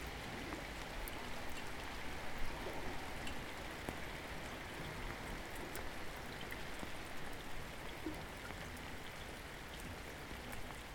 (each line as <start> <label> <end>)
0.0 rain 10.9